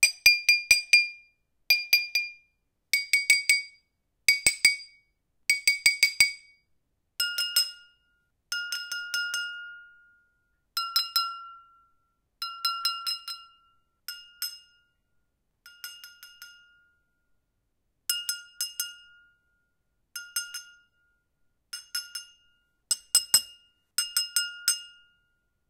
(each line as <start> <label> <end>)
15.7 Empty and full glass dinging 17.0
21.7 Empty and full glass dinging 25.1